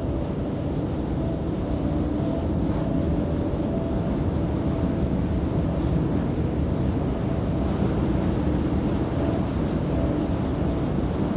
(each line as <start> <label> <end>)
0.0 wind passing through it 11.3